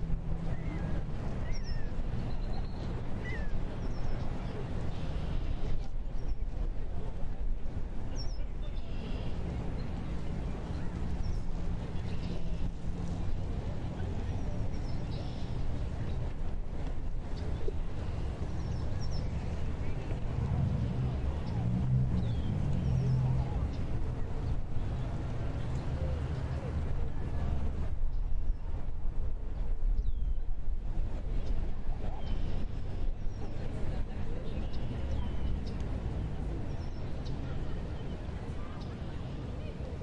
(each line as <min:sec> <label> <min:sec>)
0:08.8 cars 0:28.1
0:17.3 birds 0:26.7